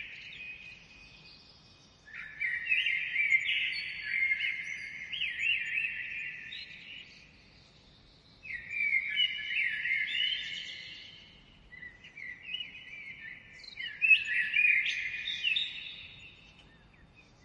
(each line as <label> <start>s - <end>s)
common blackbird 0.0s - 17.4s
other, a bit more distant birds 0.0s - 17.4s